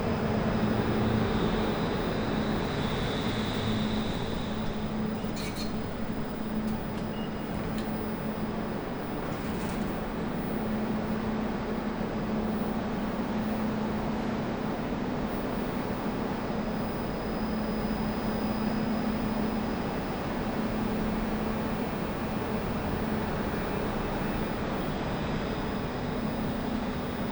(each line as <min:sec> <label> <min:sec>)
0:00.0 people going inside the station 0:27.3